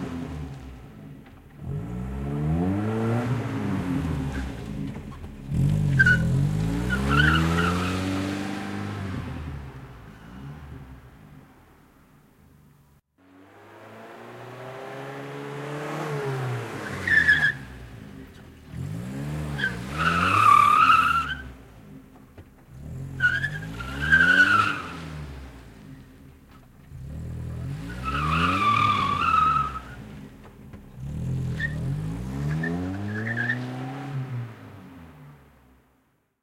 screechy brakings on asphalt 0:00.0 - 0:35.6

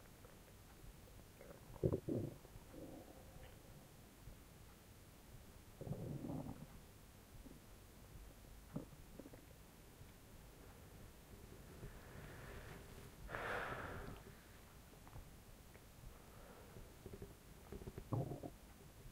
Stomach gurgling 0:01.4 - 0:03.6
Stomach gurgling 0:05.8 - 0:06.8
Stomach gurgling 0:08.7 - 0:09.6
Stomach gurgling 0:16.7 - 0:18.7

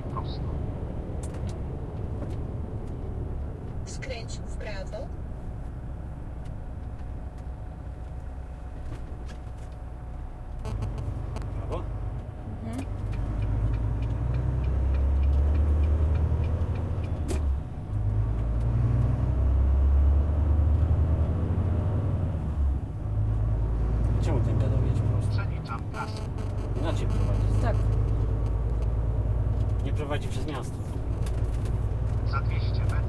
voice of two navigators 0:00.0 - 0:00.6
engine 0:00.0 - 0:33.0
voice of two navigators 0:24.2 - 0:28.0
voice of two navigators 0:32.2 - 0:33.0

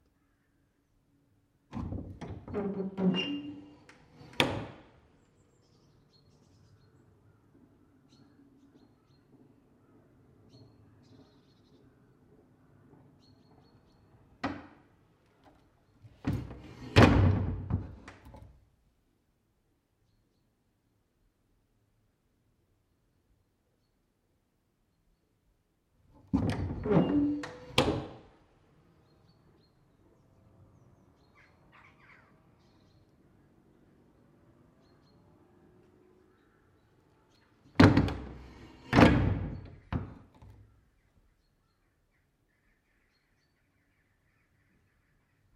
Old sliding metal window lock 0:01.7 - 0:04.8
Old sliding metal window lock 0:15.4 - 0:18.6
Old sliding metal window lock 0:26.2 - 0:28.2
Old sliding metal window lock 0:37.7 - 0:40.6

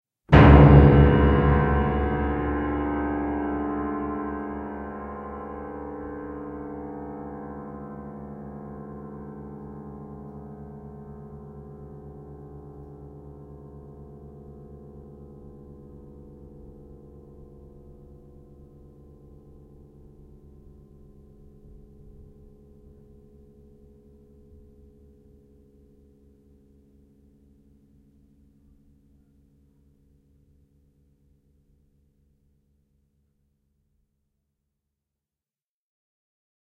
timpani attack, with long resonance 0:00.3 - 0:07.2

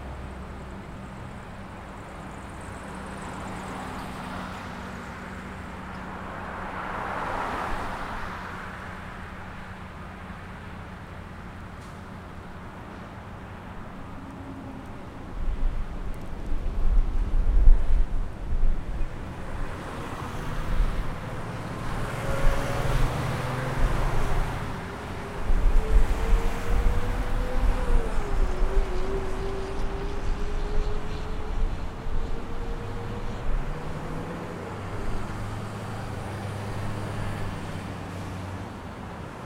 traffic 0:00.0 - 0:39.4

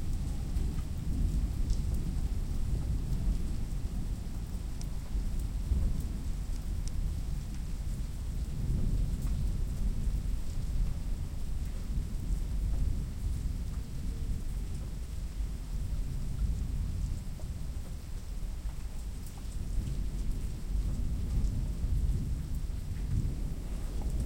Gentle rain 0:00.0 - 0:24.2
non-stop thunders 0:20.8 - 0:24.2

